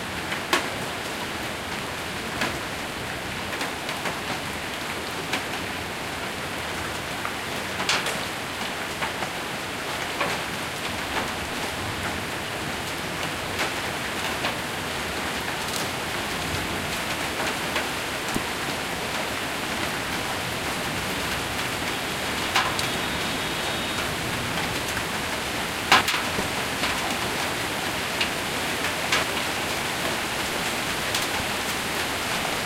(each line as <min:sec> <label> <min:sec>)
0:00.0 Light rain 0:32.6
0:06.7 light hail 0:32.6